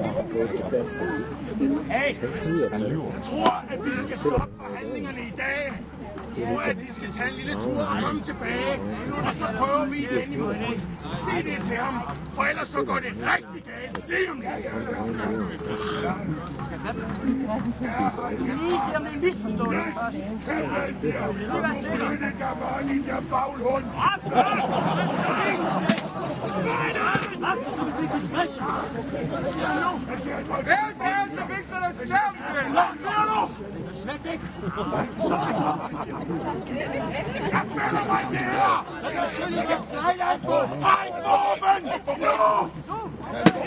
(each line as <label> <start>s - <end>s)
crowd 0.0s - 43.6s
viking battle 23.6s - 28.0s
laughter 24.2s - 26.4s
laughter 34.7s - 36.6s
yelling 37.5s - 43.6s
viking battle 40.4s - 43.6s